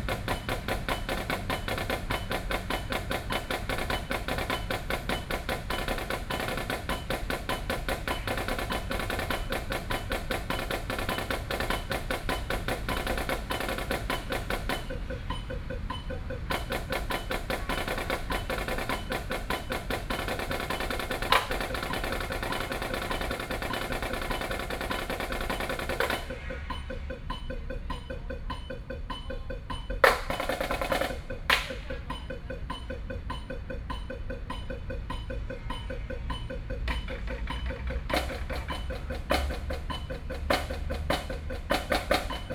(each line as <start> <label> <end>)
0.0 practicing percussion instrument 42.5